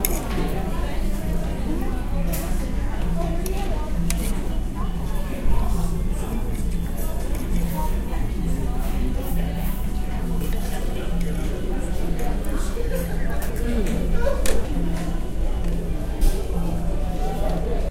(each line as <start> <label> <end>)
0.0 chatter 17.9
5.8 person in front of me eating his/her food 16.4